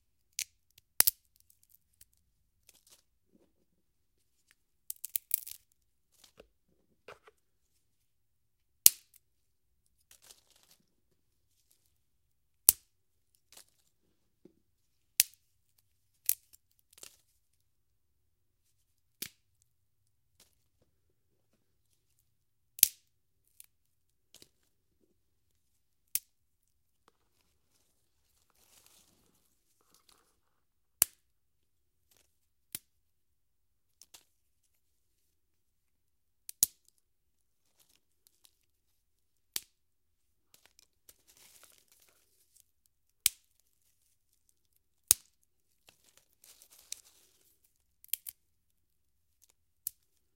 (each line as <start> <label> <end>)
4.9 Small twigs/sticks breaking 6.4
27.1 Small twigs/sticks breaking 30.3
40.5 Small twigs/sticks breaking 42.6
43.2 Small twigs/sticks breaking 48.4